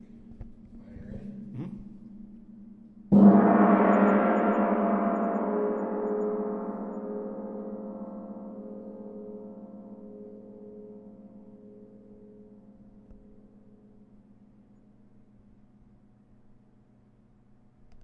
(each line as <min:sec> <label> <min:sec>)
0:03.1 Orchestral gong 0:12.8